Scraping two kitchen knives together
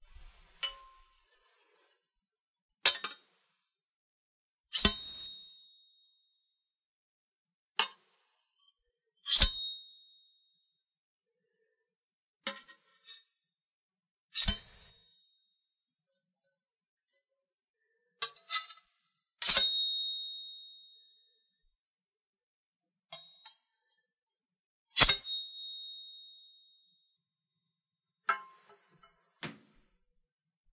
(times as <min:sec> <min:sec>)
0:02.9 0:03.3, 0:14.4 0:15.0